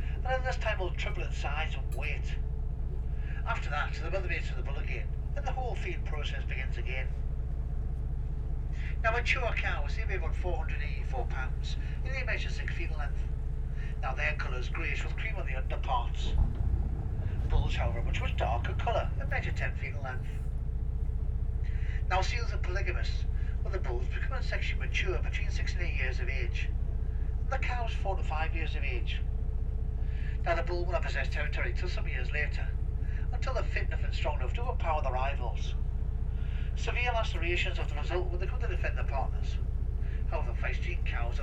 0.0s commentary 7.2s
8.7s commentary 20.5s
21.7s commentary 26.7s
36.4s commentary 41.4s

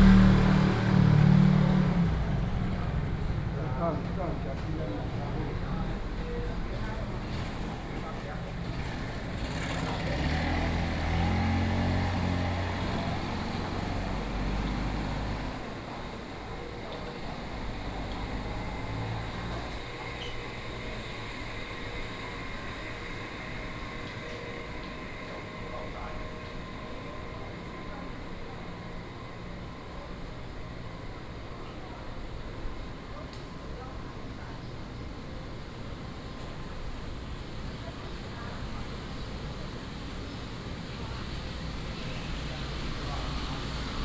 0.0s Traffic Sound 31.4s
0.0s Walking through the market 44.0s
36.2s Traffic Sound 44.0s

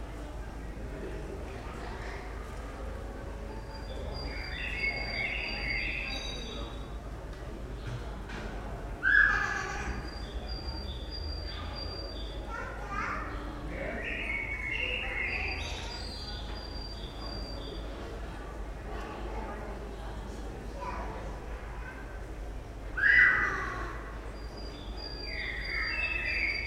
0.0s tenants 26.6s
3.5s birds 7.0s
9.0s birds 18.3s
23.0s birds 26.6s

